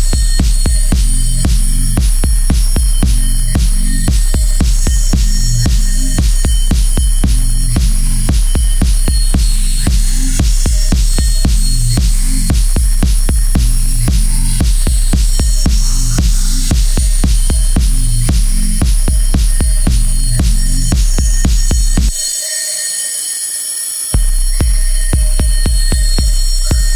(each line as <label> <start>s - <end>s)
Techno Beat 0.0s - 22.3s
Techno Beat 24.2s - 26.9s